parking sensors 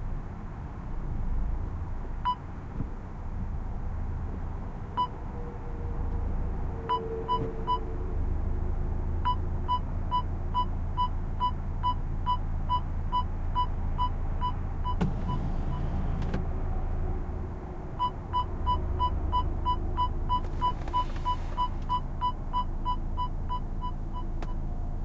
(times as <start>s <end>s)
9.2s 16.6s, 17.8s 24.7s